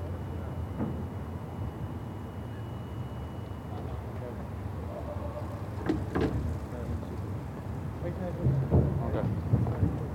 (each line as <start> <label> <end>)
0.0 bikes and walkers sounding the bridge 10.1
0.0 rumble of traffic from the ring road 10.1
2.4 different bicycles, shoes and voices 10.1